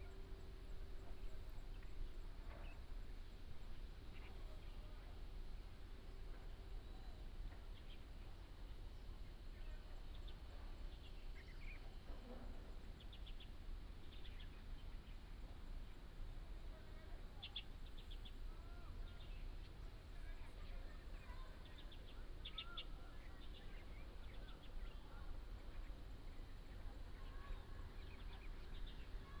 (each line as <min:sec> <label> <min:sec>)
0:20.8 birds sound 0:29.4